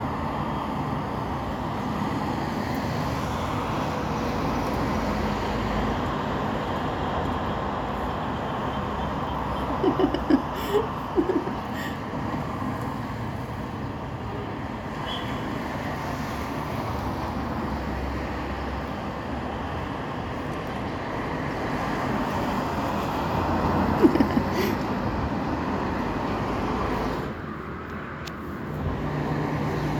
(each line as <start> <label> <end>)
0.0 street noise 29.9
9.5 woman's soft laughter 12.1
23.6 woman's soft laughter 25.0